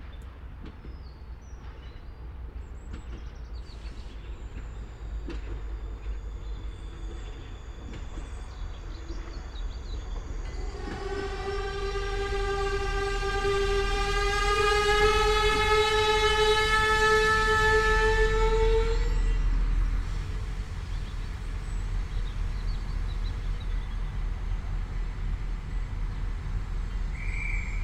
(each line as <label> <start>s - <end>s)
small diesel train 0.0s - 27.8s